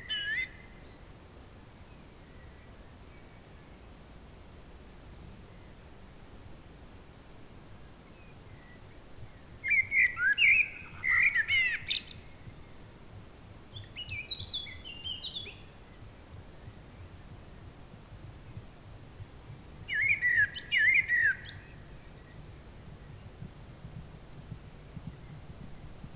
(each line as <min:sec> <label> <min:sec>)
0:09.6 singing birds announcing sunset 0:12.8
0:19.9 singing birds announcing sunset 0:23.3
0:22.4 horse 0:26.1